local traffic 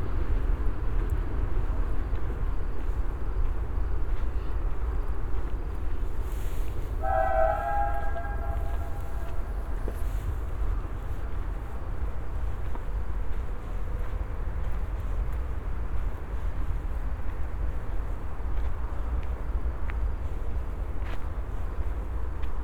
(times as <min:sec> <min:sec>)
0:00.0 0:16.3